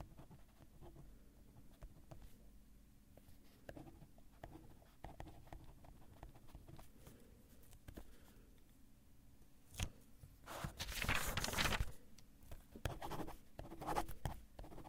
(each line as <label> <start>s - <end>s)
Pen on paper 0.0s - 1.0s
Pen on paper 3.6s - 6.9s
Pen on paper 12.8s - 14.8s